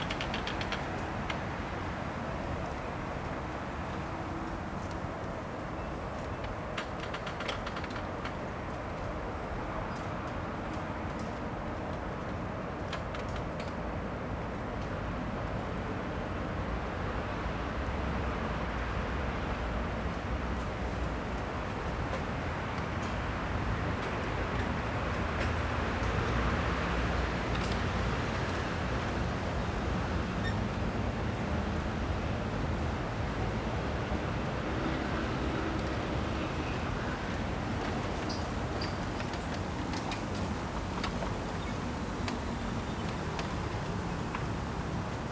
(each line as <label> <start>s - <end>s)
Traffic Sound 21.9s - 45.3s
Bamboo forest 34.7s - 45.3s